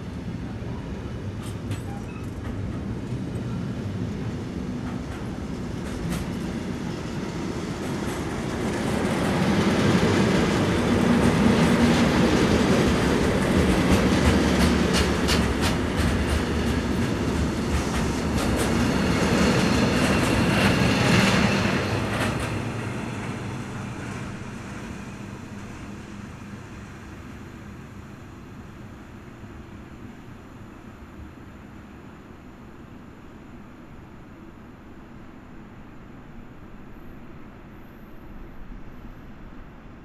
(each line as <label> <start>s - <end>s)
freight train 0.0s - 40.0s